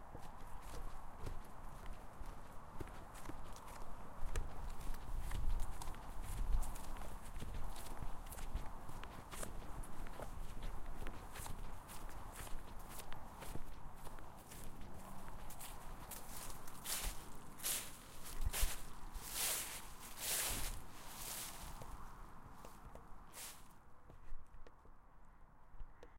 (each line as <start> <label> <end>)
0.0 walking in the leaves 23.8